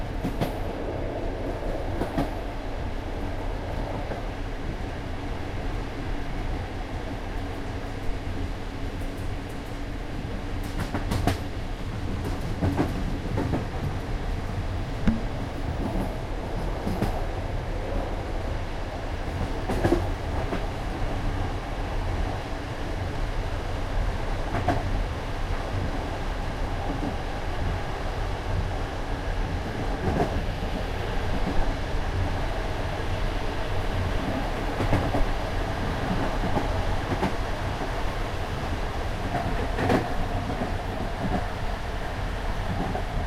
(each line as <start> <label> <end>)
0.0 train 43.2